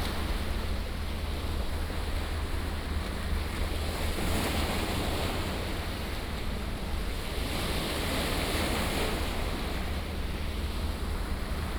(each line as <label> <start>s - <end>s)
yachts on the river 0.0s - 11.7s